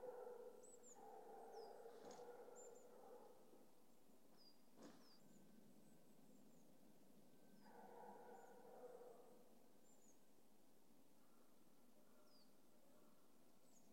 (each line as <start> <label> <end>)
0.0 farm dogs 3.7
7.6 farm dogs 9.4